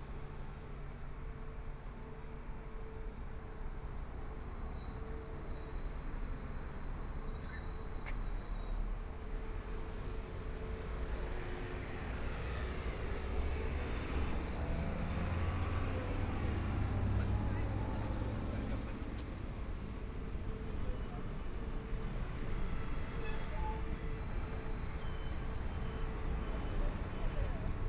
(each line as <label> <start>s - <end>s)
Traffic Sound 6.4s - 27.8s